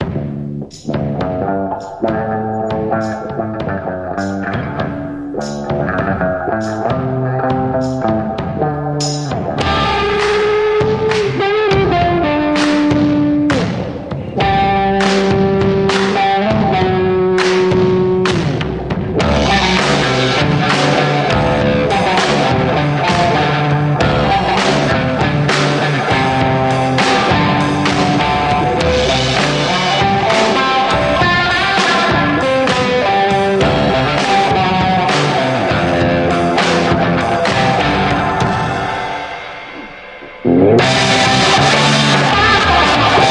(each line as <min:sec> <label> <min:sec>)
0:00.0 drums 0:43.3
0:00.0 vintage spring reverb guitar sound 0:43.3